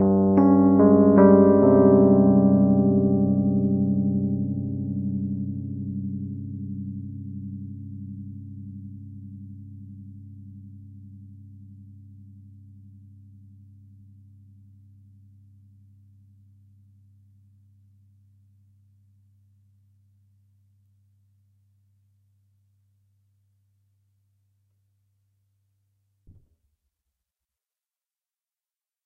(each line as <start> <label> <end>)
0.0 Arpeggio chord played on a 1977 Rhodes MK1 11.6